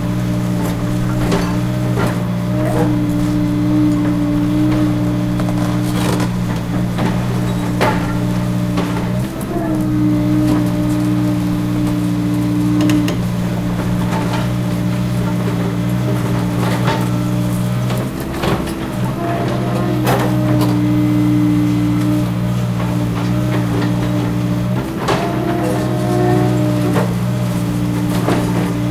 0.0s excavator beeing used on a demolition plant 28.9s
0.0s crush 28.9s

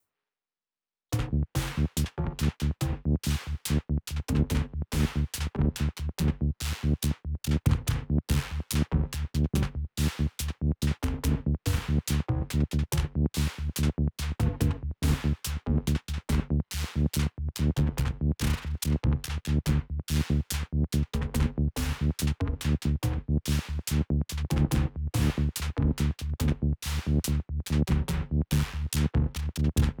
1.2s synthbass 30.0s

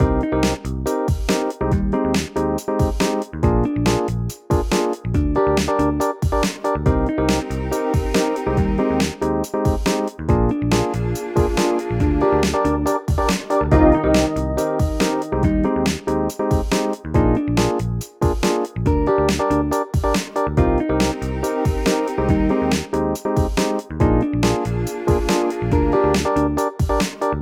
0.0s drums 27.4s
13.7s guitar 16.6s

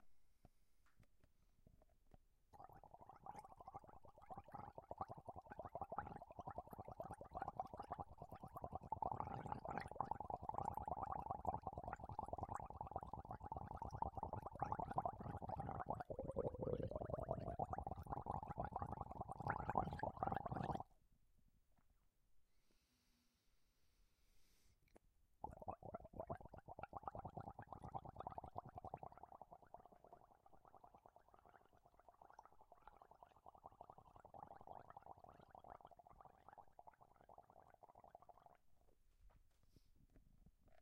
2.5s gargling water in the throat 20.9s
25.4s gargling water in the throat 38.7s

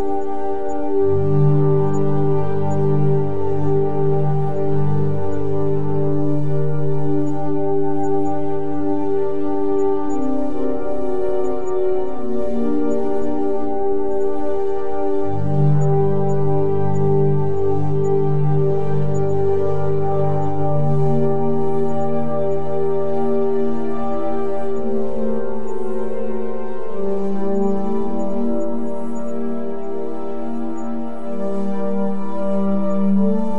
0.0s Airy Synth Pad 33.5s

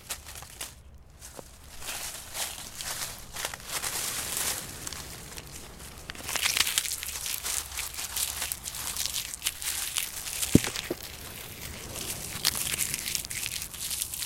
0.0s breaking dry leaves 0.9s
1.7s breaking dry leaves 14.2s

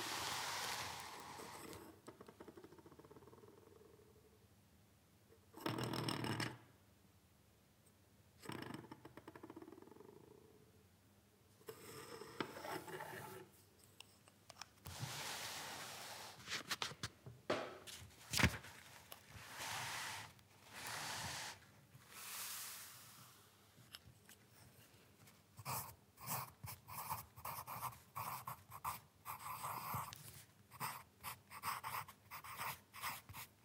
0.0s moving the paper 1.9s
17.9s moving the paper 23.2s
25.6s Writing on paper using a lead pencil 33.6s

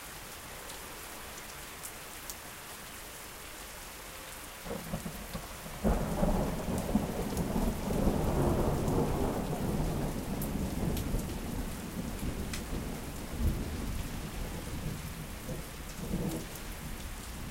0.0s Rain falling on streets 17.5s
5.8s thunder 16.4s

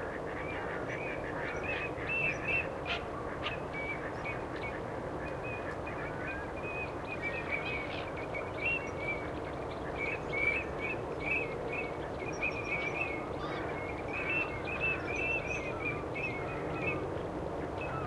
0.0s geese 8.4s
0.0s ducks 9.3s
11.3s ducks 18.0s
12.6s geese 18.0s

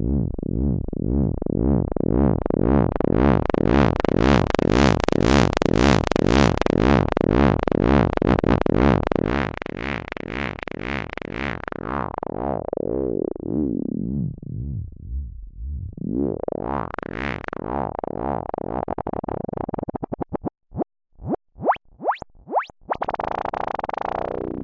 11.1s long strange sounds and sequences 17.0s

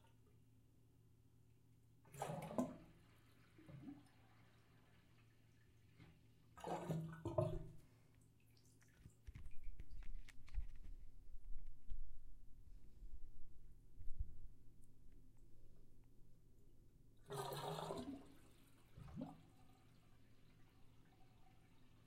2.1s Water Draining from a Tub 10.2s
17.2s Water Draining from a Tub 22.0s

